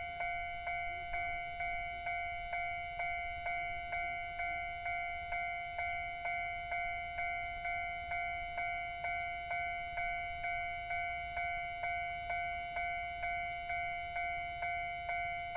The train runs through 0.0 - 15.5

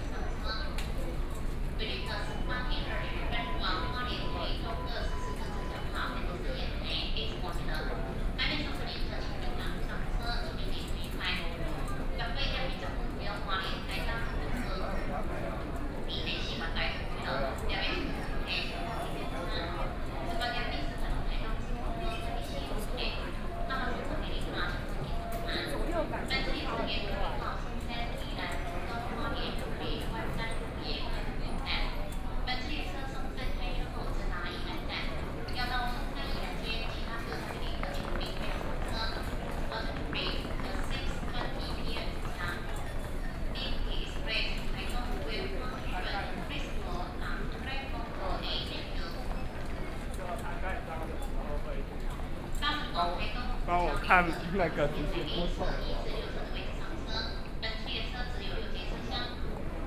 crowd of passengers 0.0 - 59.8
Station broadcast messages 1.9 - 7.2
Station broadcast messages 53.2 - 55.9

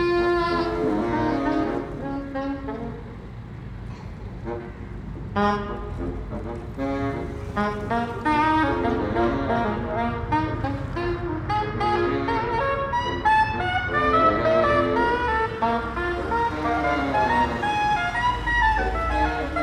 2 saxophonists started playing from high windows 0.0 - 19.6
Traffic still passes 0.0 - 19.6

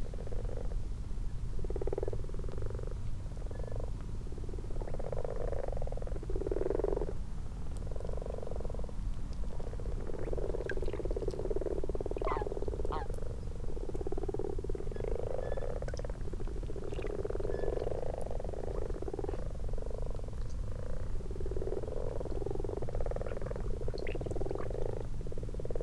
common frogs and common toads in a garden pond 0.0 - 25.8

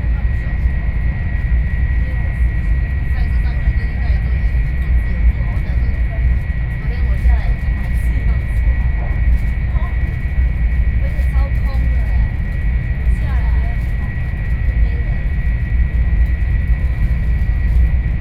high-speed rail 0.0 - 18.2

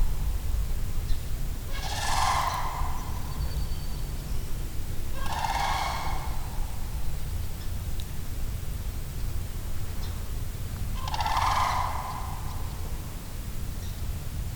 sandhill crane's call 1.6 - 4.0
sandhill crane's call 5.0 - 7.0
sandhill crane's call 10.9 - 13.3

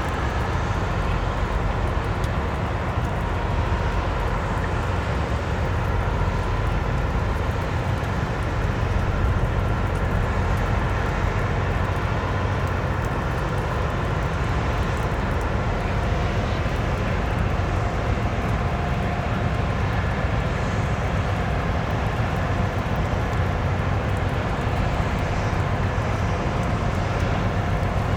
rain 0.0 - 28.1
vessels anchored close to the shore make a constant mechanic noise 0.0 - 28.1

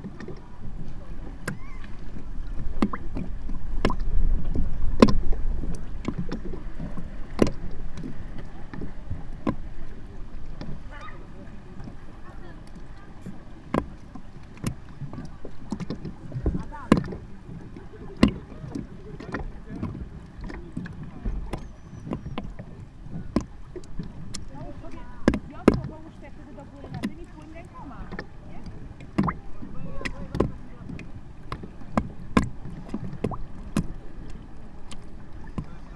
water splashing in the depressions of a plastic platform 0.0 - 35.9
conversations of people 6.4 - 32.9

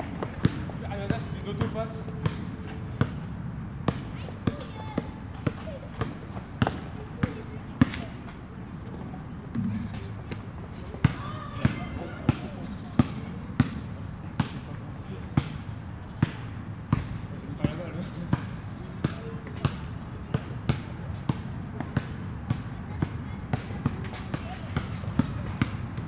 Two guys play basketball 0.1 - 26.0
children playing 3.9 - 8.4
children playing 9.0 - 13.5
children playing 22.6 - 25.6

